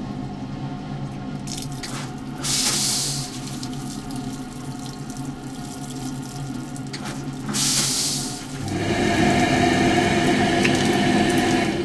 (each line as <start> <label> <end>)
1.4 soapy water then clean water 11.8
1.5 flushing 11.8
2.4 warm air from the hand dryer 3.6
7.1 warm air from the hand dryer 11.8